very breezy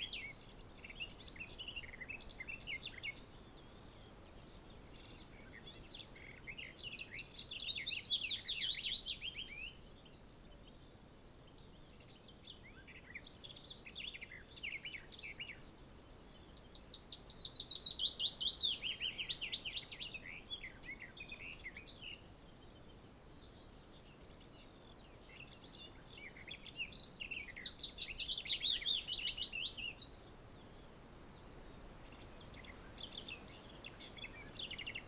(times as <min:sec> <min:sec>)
0:14.5 0:35.0